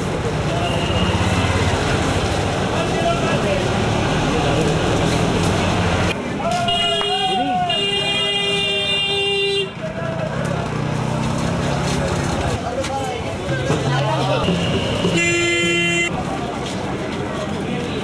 Construction Works 0.0 - 6.8
buses 0.0 - 18.0
hawkers offering their products to pedestrians 0.0 - 18.0
traffic jam with honking cars 0.0 - 18.0
tuktuks 0.0 - 18.0
Construction Works 9.8 - 18.0

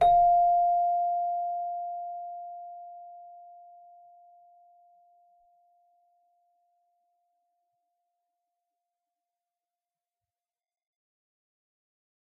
celesta 0.0 - 5.9

